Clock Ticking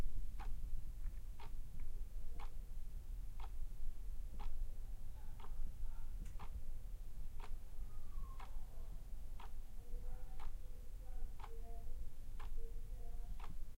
3.4 3.6, 11.4 11.6, 12.4 12.6, 13.4 13.6

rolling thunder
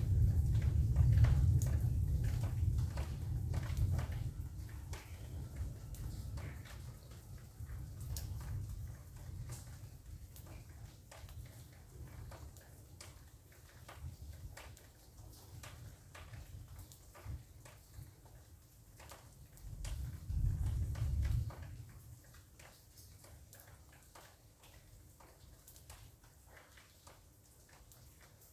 0.0 10.4, 19.7 22.1

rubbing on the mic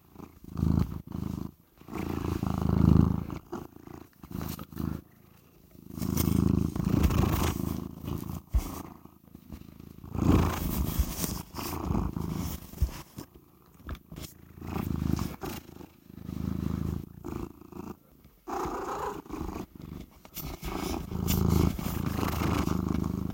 5.9 13.3, 13.9 17.4, 18.6 23.3

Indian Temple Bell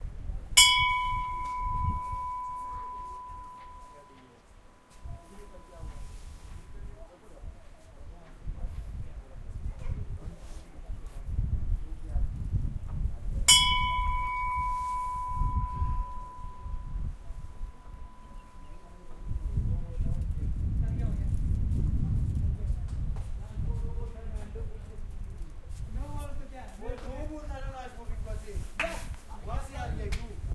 0.6 6.9, 13.5 20.0

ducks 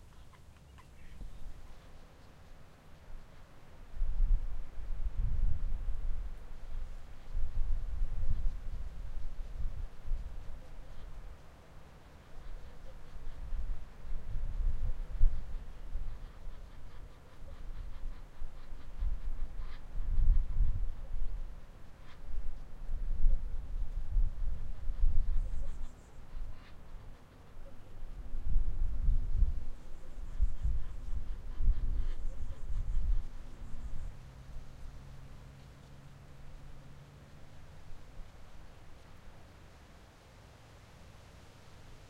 0.0 3.4, 15.0 22.2, 25.2 28.1, 30.0 34.4

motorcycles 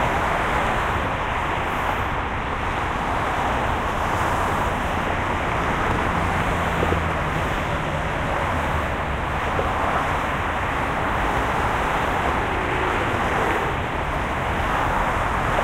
5.4 15.6

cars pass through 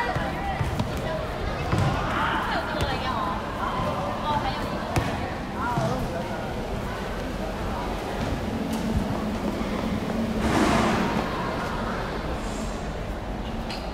4.8 13.7

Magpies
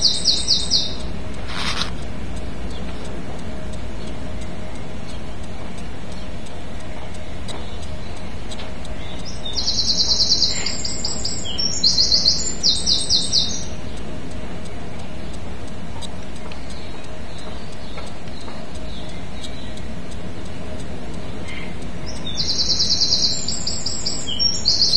0.0 1.1, 9.0 13.8, 21.4 24.9

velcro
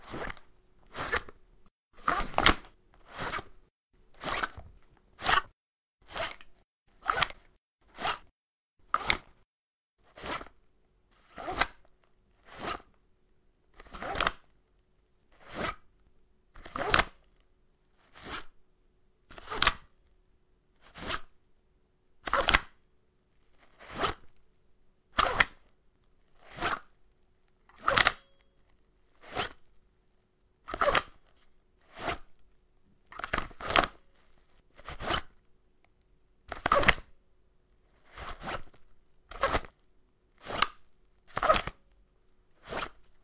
0.0 1.4, 2.0 3.6, 4.2 4.6, 5.2 9.3, 10.0 10.6, 11.2 11.8, 12.4 12.9, 13.8 14.4, 15.3 15.8, 18.0 18.6, 20.8 21.3, 22.2 22.7, 23.6 24.3, 25.2 25.6, 26.4 26.9, 27.7 28.4, 29.2 29.7, 30.7 32.3, 33.1 35.4, 36.5 37.0, 37.9 39.8, 40.4 41.8, 42.6 43.2

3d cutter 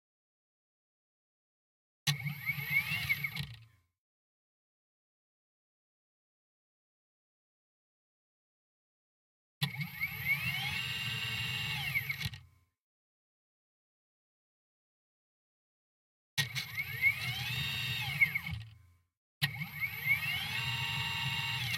2.1 3.5, 9.6 12.3, 16.4 18.6, 19.4 21.7

